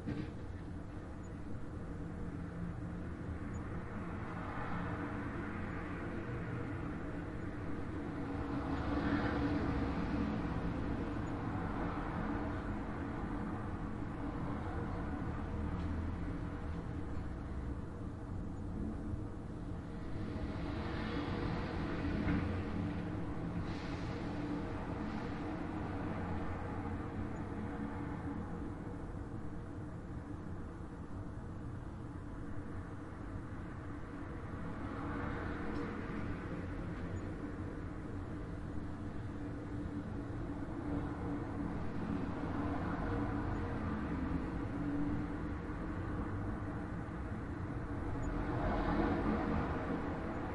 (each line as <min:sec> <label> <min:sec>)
0:00.0 Traffic heard outside closed window 0:50.5